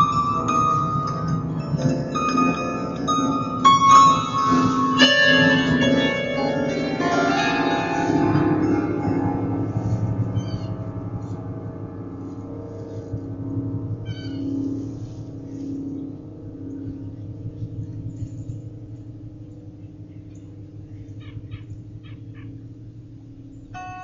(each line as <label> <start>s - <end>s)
strummed the strings 0.0s - 24.0s